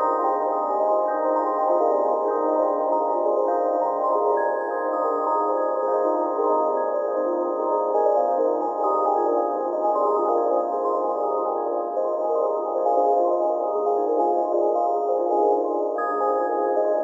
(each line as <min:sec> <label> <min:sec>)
0:00.0 Sine Bells 0:17.0